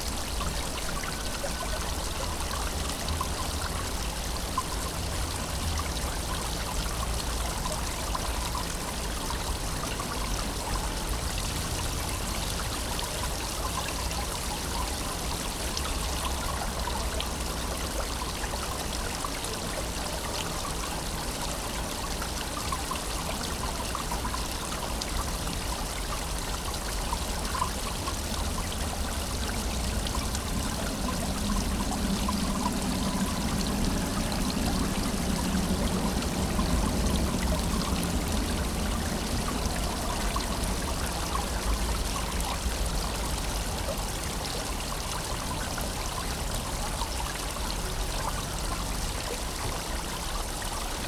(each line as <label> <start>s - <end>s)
fountain 0.0s - 51.0s